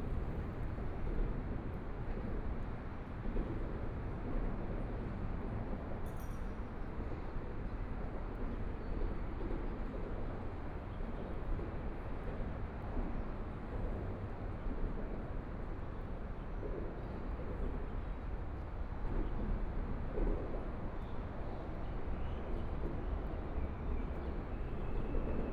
0.0s highway traffic 1.1s

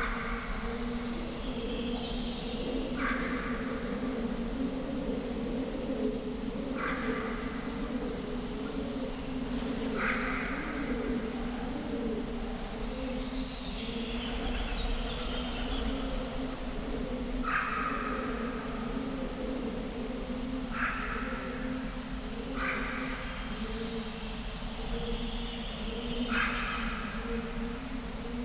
0.0s pigeons 28.4s

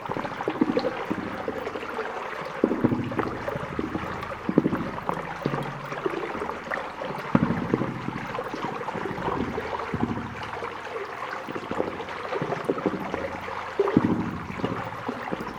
0.0s Bubbles in a pipe 15.5s

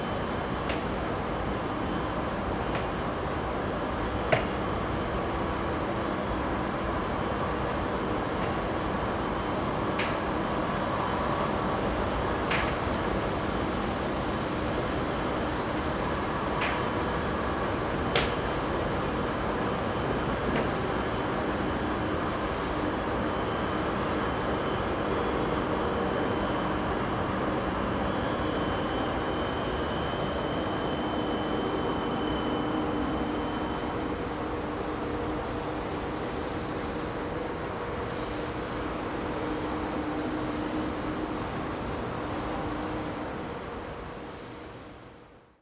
0.0s conveyer belts stop 44.9s

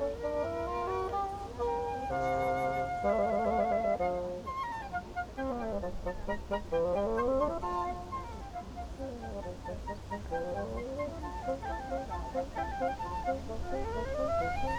0.0s pedestrians 14.7s
0.0s swans 14.7s
0.0s two musicians rehearsing 14.7s
0.0s wind 14.7s

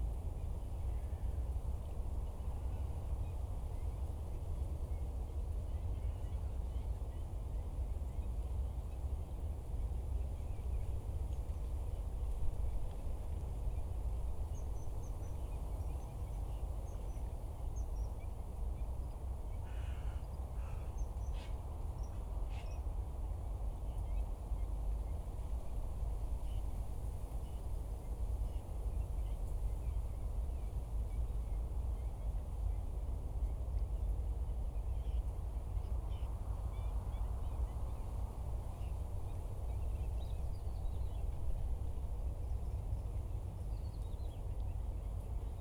0.0s Wind 45.6s

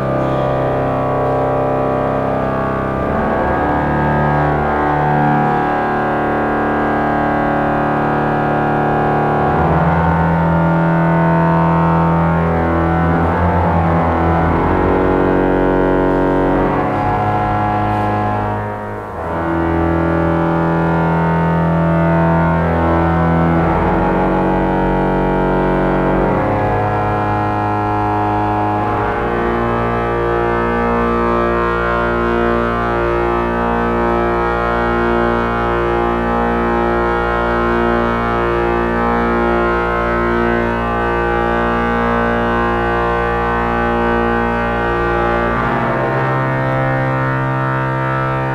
0.0s organ tune 48.5s

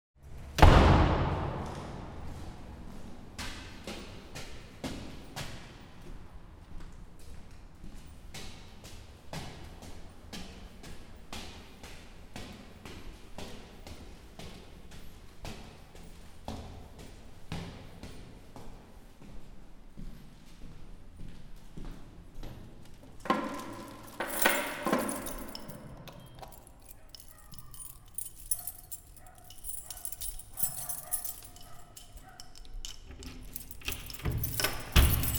0.6s doors slam 2.8s
1.4s Staircase walk 35.3s
23.3s doors slam 32.2s
23.3s keys jingling 35.3s
33.4s doors slam 35.3s

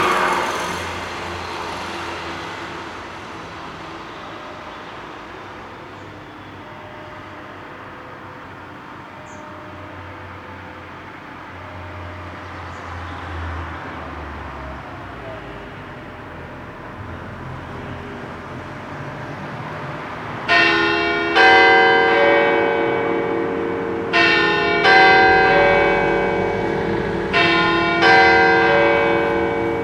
0.0s Cars passing 29.8s
0.0s church bell 29.8s

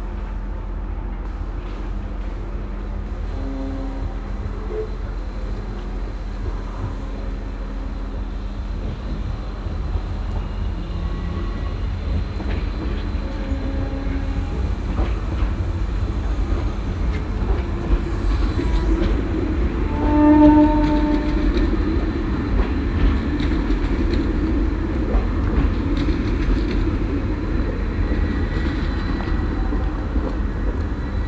0.0s incoming trains 31.2s

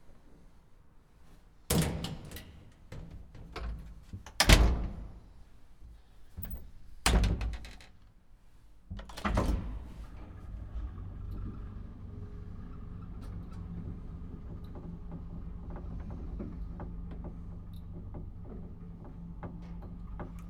1.2s Elevator 5.6s
8.9s Elevator 20.4s

